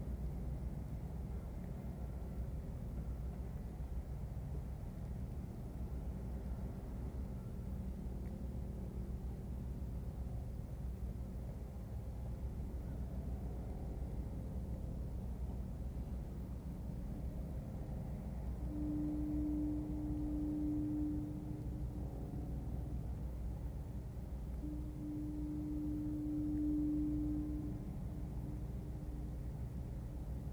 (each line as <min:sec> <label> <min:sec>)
0:17.5 Departing ferry 0:30.5
0:18.2 distant shipping horn sounds 0:30.5